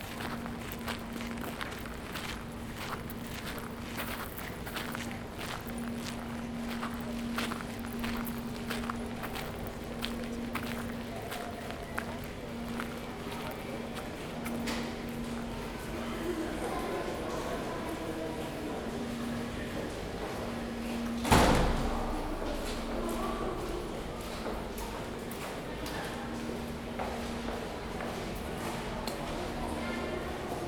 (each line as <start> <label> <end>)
0.0 Walking 15.6